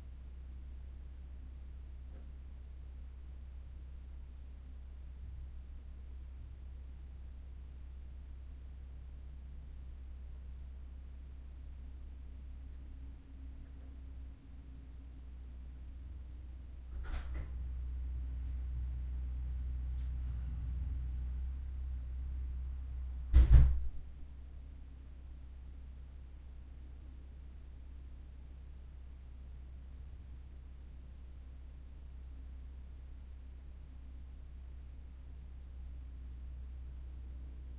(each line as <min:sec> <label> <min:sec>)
0:16.9 Front door is opened and closed 0:17.6
0:23.3 Front door is opened and closed 0:24.0